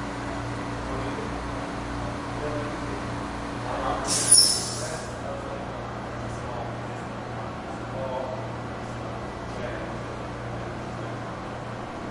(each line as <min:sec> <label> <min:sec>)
0:04.1 compressed air blower cleaning something 0:05.1